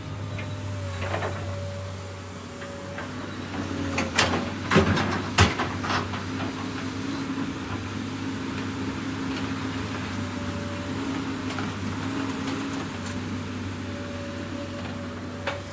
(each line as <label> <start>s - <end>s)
Excavator breaking up pavement 3.9s - 6.7s